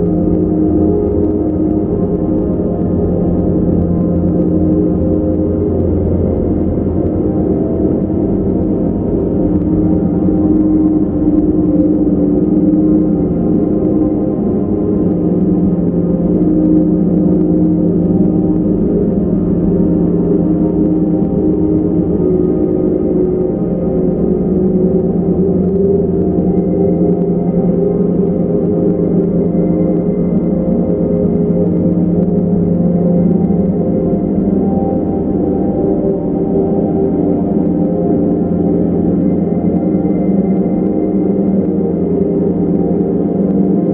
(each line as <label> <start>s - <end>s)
slowly evolving dreamy ambient drone pad 0.0s - 43.9s